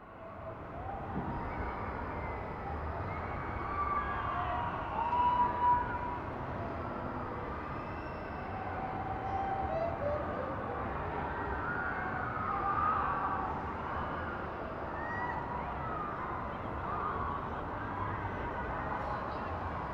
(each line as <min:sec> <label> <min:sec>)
0:08.4 distant christmas market 0:12.0